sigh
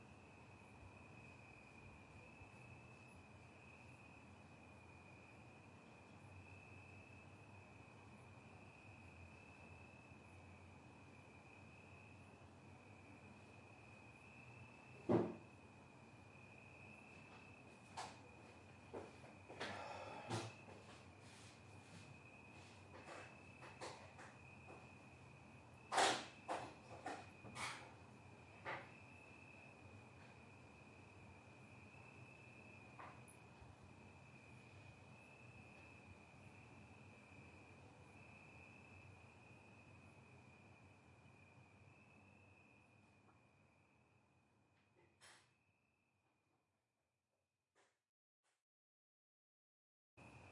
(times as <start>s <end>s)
19.6s 20.5s